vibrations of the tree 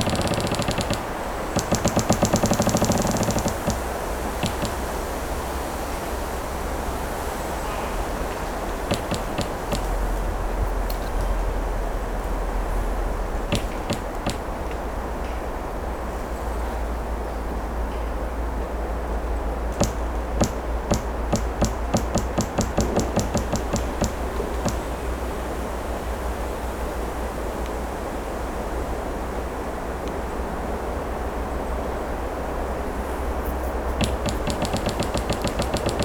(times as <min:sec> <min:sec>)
0:00.0 0:17.4, 0:19.0 0:26.6, 0:32.8 0:36.0